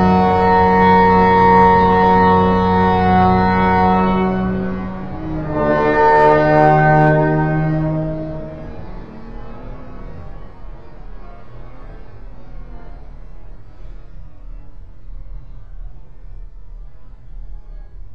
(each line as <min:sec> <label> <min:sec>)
0:00.0 heavenly horns are sounding 0:13.6